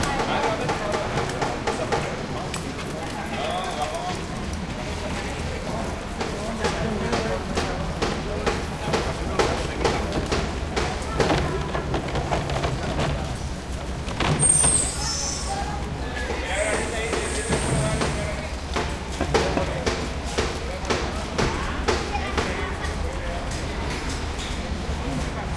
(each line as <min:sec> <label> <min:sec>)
0:00.0 carts 0:25.5
0:00.0 people 0:25.5
0:08.2 odd car 0:15.1